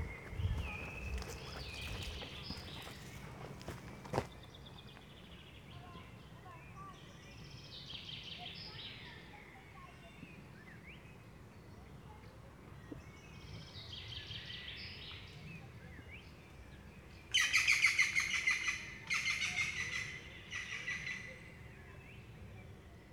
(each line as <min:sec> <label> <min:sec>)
0:00.0 wlking in the forest 0:10.2
0:17.2 wlking in the forest 0:22.3